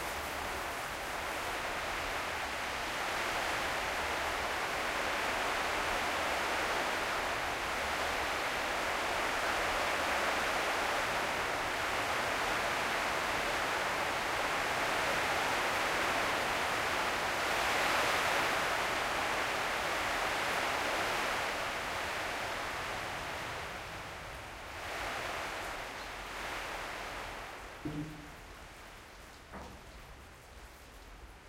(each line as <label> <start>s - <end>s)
Rain on Corrugated Iron 0.0s - 31.4s
gate high in the entrance clangs with the wind 27.2s - 29.9s